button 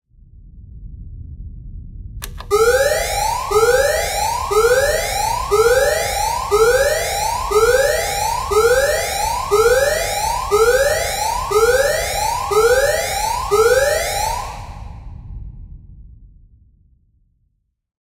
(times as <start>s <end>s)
2.2s 10.9s